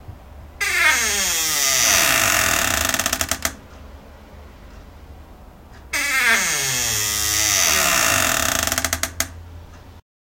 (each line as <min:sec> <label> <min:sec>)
0:00.6 slow creaky door hinges 0:03.6
0:05.8 slow creaky door hinges 0:09.4